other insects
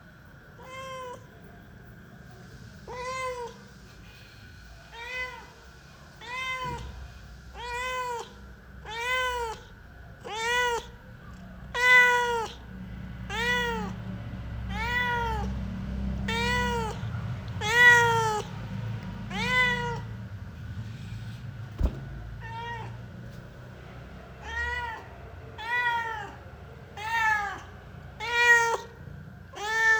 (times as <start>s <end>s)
0.0s 22.4s